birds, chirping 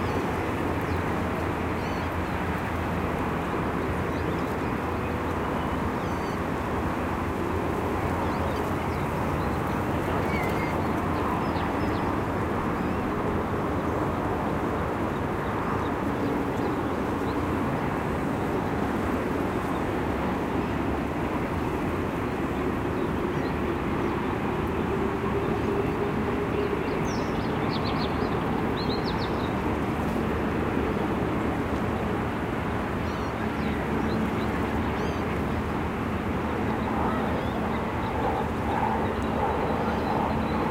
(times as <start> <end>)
8.2 12.2, 33.0 35.3